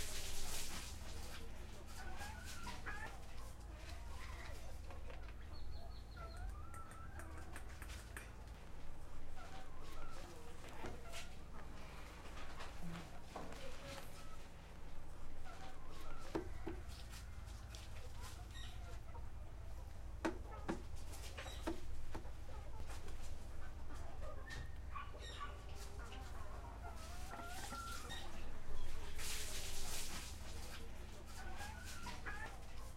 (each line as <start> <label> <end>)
0.0 woman cleaning the hall of her house 4.8
25.7 woman cleaning the hall of her house 32.9